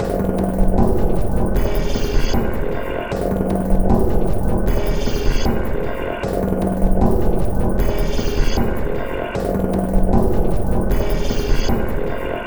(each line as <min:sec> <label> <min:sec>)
0:00.0 Drum Loop 0:12.4